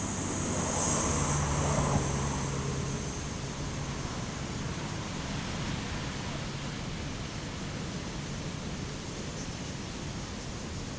waves 0:00.0 - 0:10.9

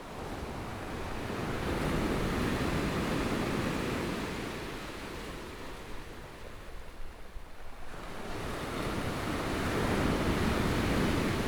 waves 0:07.6 - 0:11.4

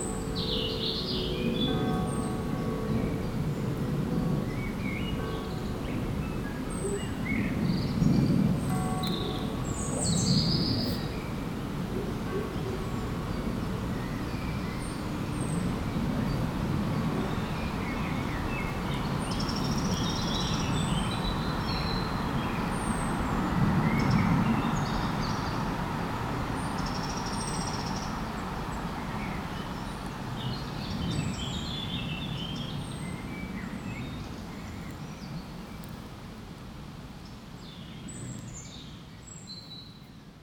Faraway bells 0:00.0 - 0:24.9
birds singing 0:00.0 - 0:25.7
traffic drones 0:00.0 - 0:35.0

